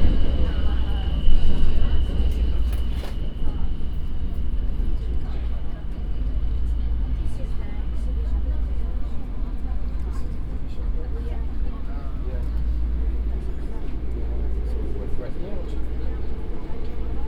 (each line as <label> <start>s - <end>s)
subway train 0.0s - 17.2s